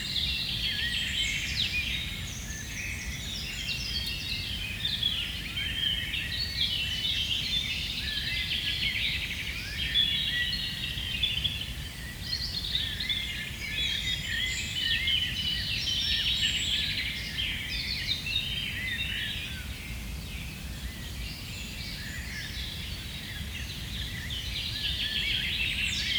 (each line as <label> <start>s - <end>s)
Robin singing on a nearby tree 0.0s - 26.1s